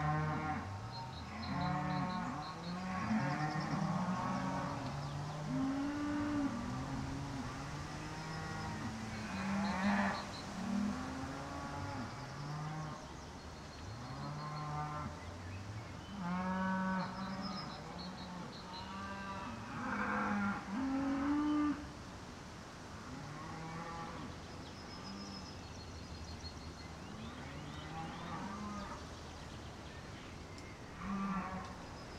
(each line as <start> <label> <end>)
0.0 herd of cows 13.2
13.9 herd of cows 15.3
16.1 herd of cows 21.8
30.9 herd of cows 32.1